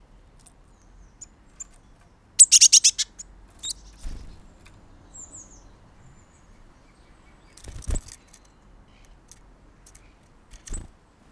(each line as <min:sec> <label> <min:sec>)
0:01.6 wings of the bird 0:05.1
0:02.4 Eurasian Blue Tit Call 0:04.2
0:07.3 wings of the bird 0:11.0